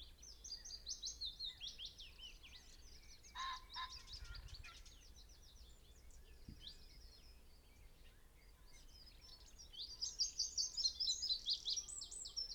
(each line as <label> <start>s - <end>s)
blackbird 0.5s - 12.5s
red-legged partridge 3.3s - 5.2s